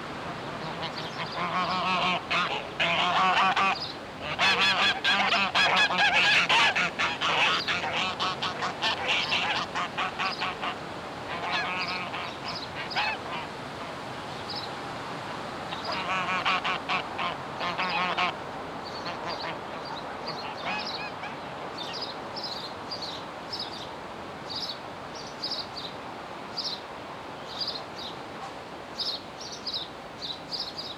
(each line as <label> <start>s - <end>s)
birds at and around the nearby pond 0.0s - 30.9s